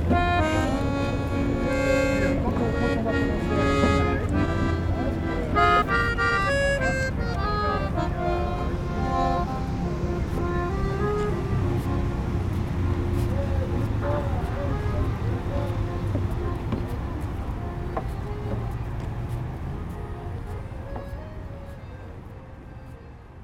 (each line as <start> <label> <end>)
0.0 playing accordion 23.4